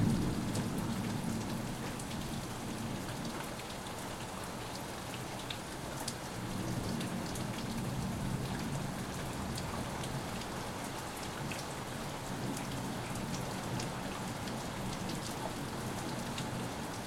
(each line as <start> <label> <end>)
0.0 Severe Rainstorm passing 3.0